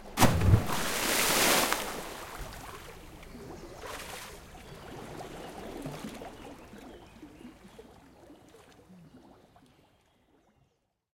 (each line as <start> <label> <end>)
0.0 Big splash 3.0
0.0 diving board 9.7
0.0 water 11.1
0.4 bubbles 10.5